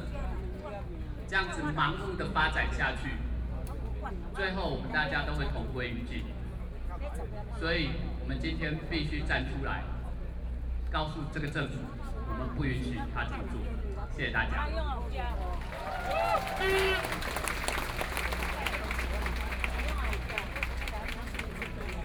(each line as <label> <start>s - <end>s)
Protest 15.1s - 22.0s